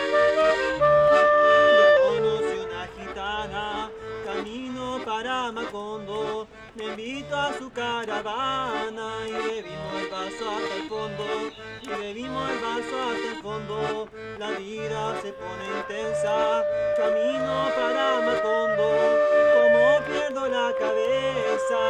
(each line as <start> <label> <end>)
0.0 clarinet 4.6
0.0 accordion 21.8
15.0 clarinet 21.8